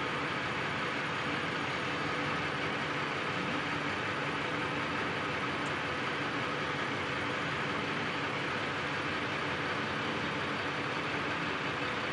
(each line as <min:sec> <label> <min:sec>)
0:00.0 truck 0:12.1